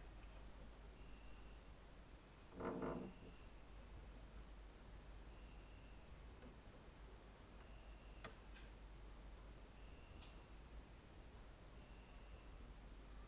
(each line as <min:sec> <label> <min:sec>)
0:02.5 doors 0:03.5